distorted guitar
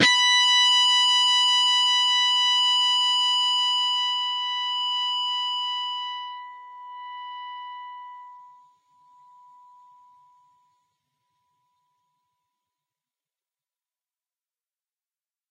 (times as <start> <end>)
0.0 2.7